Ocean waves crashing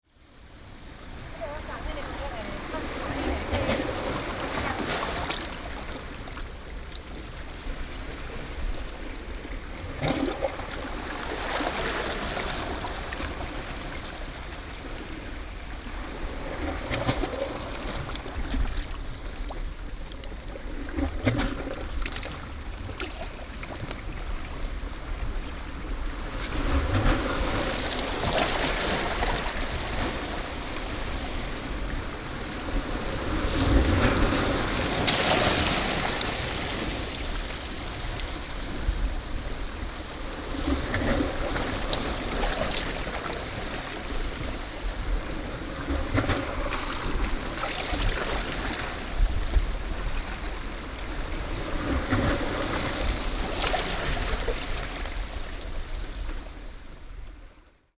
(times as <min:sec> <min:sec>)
0:01.2 0:05.8, 0:27.1 0:44.4